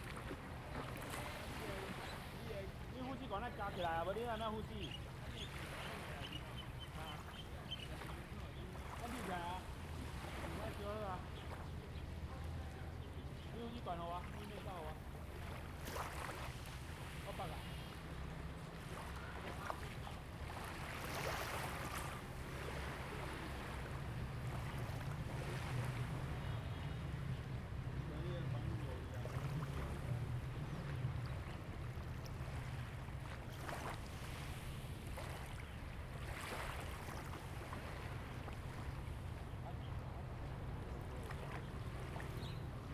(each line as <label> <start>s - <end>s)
waves 0.0s - 42.9s